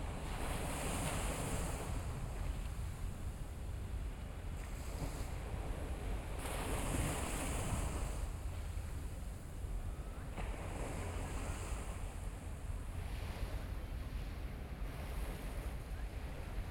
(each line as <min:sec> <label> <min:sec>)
0:00.0 waves 0:16.7